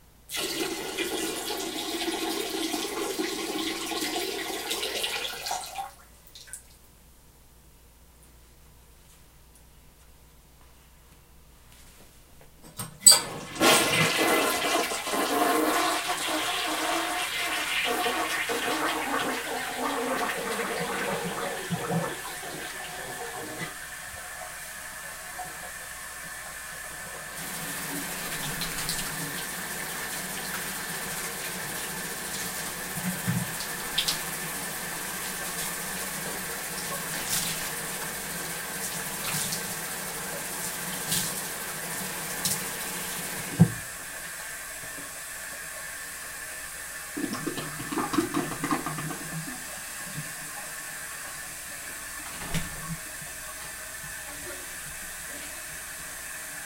flush 0.3 - 6.7
flush 13.1 - 56.6
handwashing 27.0 - 43.6

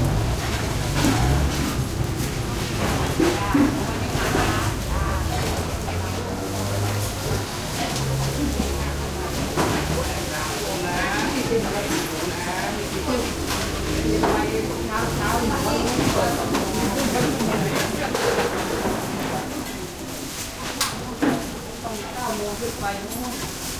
motorcycles 0.0 - 10.2
side street market morning activity 0.0 - 23.7

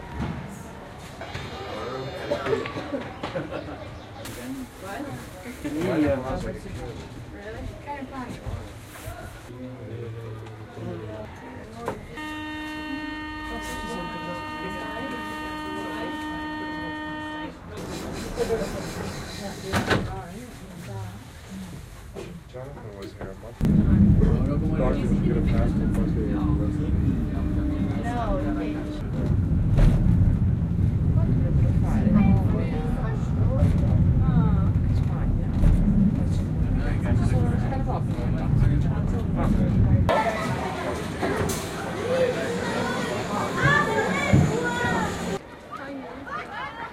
Pedestrians 0.0 - 46.9
Traffic 10.0 - 46.0
Funicular 23.6 - 40.1

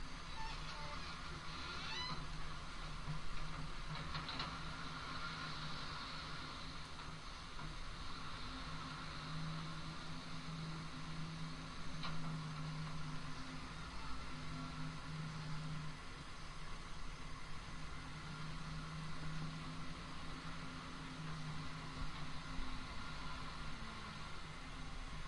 squeaky 0.3 - 2.5

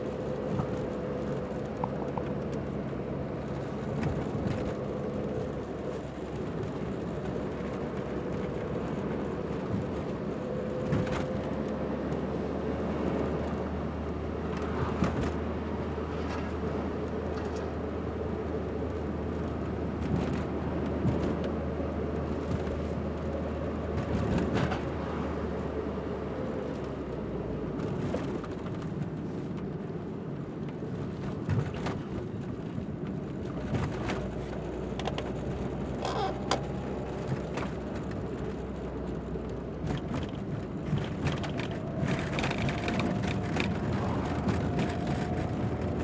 car 0.0 - 46.0
rain 33.4 - 46.0

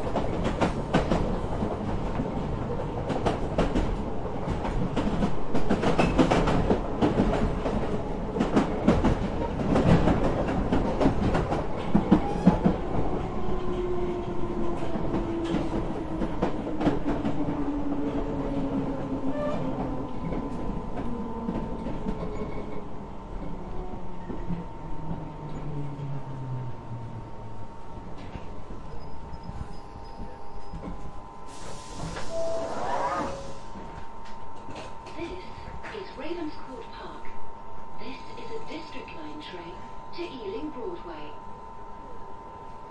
tube journey 0.0 - 42.9
beeping noise indicating the doors are about to close 32.3 - 33.5

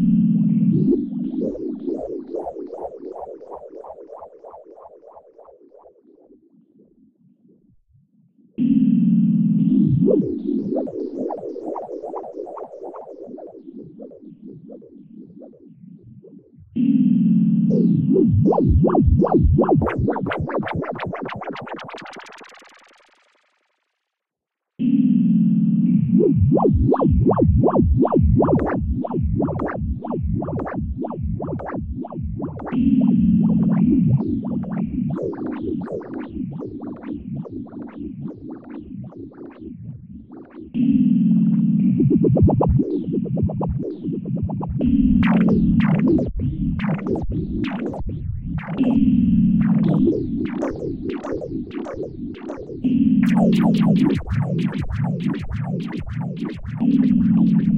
Synth 16.6 - 23.8
Synth 24.8 - 57.7

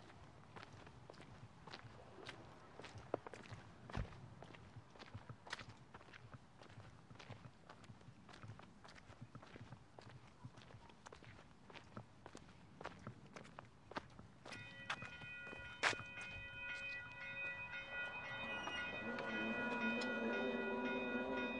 Wet Footsteps Sidewalk 0.0 - 20.5
metro pass 16.9 - 21.5

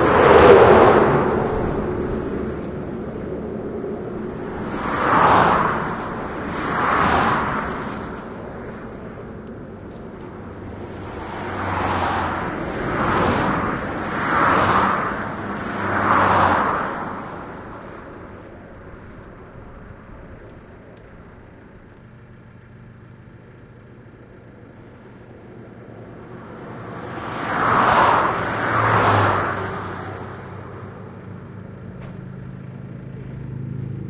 Several cars cross the highway at high speed 0.0 - 34.0
motorcycles 0.0 - 34.0
trucks passing 0.0 - 34.0

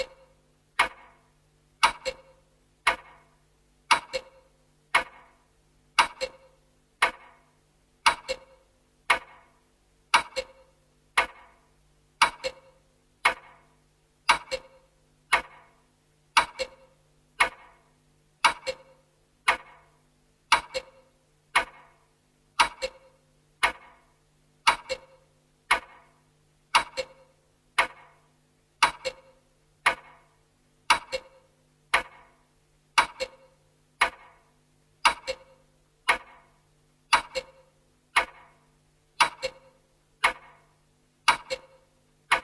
Grandfather clock ticking 0.0 - 1.2
Grandfather clock ticking 1.8 - 3.3
Grandfather clock ticking 3.9 - 5.4
Grandfather clock ticking 6.0 - 7.4
Grandfather clock ticking 8.0 - 9.5
Grandfather clock ticking 10.1 - 11.6
Grandfather clock ticking 12.2 - 13.6
Grandfather clock ticking 14.3 - 17.8
Grandfather clock ticking 18.4 - 19.9
Grandfather clock ticking 20.5 - 22.0
Grandfather clock ticking 22.6 - 24.0
Grandfather clock ticking 24.6 - 26.1
Grandfather clock ticking 26.7 - 28.2
Grandfather clock ticking 28.8 - 30.3
Grandfather clock ticking 30.9 - 32.4
Grandfather clock ticking 33.0 - 34.4
Grandfather clock ticking 35.0 - 36.5
Grandfather clock ticking 37.1 - 38.6
Grandfather clock ticking 39.2 - 42.4

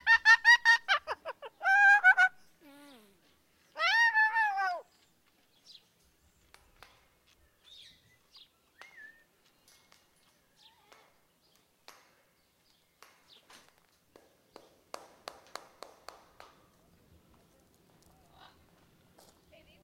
Cockatoo Chatter 0.1 - 2.4
Cockatoo Chatter 3.8 - 4.9
Whistles 8.7 - 9.4

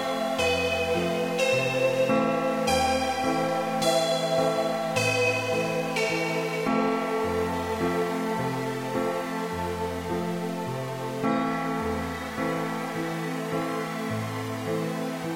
piano 0.0 - 15.3
synths 0.0 - 15.3

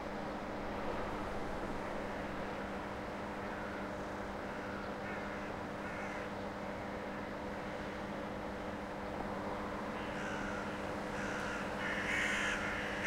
Flock of crows fly & croak around a house 3.4 - 7.8
Flock of crows fly & croak around a house 9.8 - 13.0

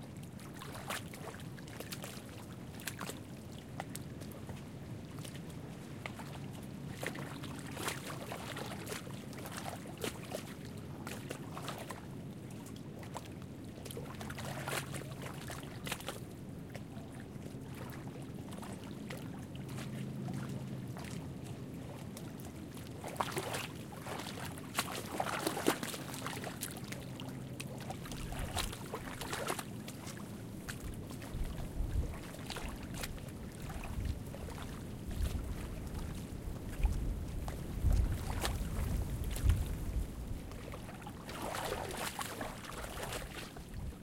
lake waves lapping at the short of a small lake 0.0 - 44.0
winds were blowing steady 30.3 - 32.2
winds were blowing steady 32.8 - 40.7

